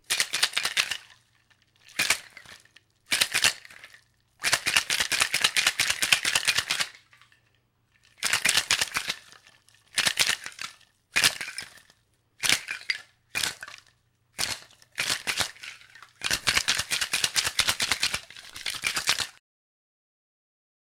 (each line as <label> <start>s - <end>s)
liquid and ice being shaken in a metal cocktail shaker 0.0s - 19.4s